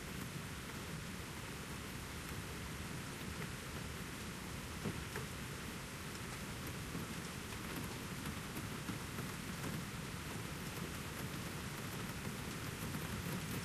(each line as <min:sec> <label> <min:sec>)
0:00.0 heavy rain 0:13.6